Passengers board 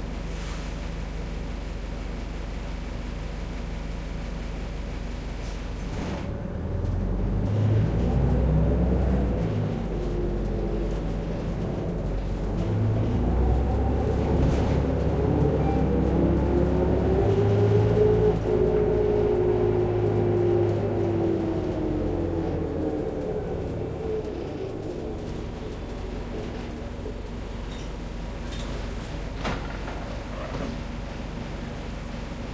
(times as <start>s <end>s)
9.4s 32.5s